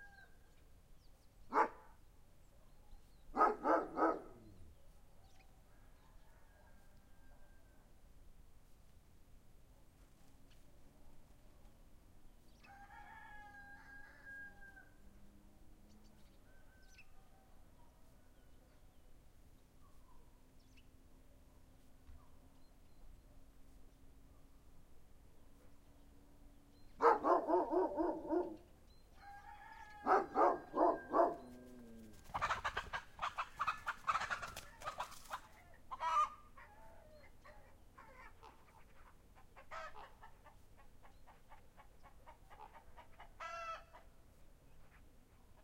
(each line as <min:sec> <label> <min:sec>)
0:01.5 dogs 0:01.9
0:02.6 dogs 0:05.0
0:27.0 dogs 0:28.7
0:29.2 chicken 0:44.1
0:30.0 dogs 0:35.4